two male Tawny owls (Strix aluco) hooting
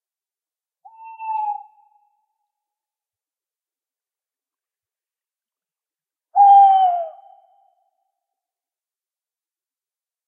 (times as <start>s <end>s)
0.8s 2.1s, 6.3s 7.8s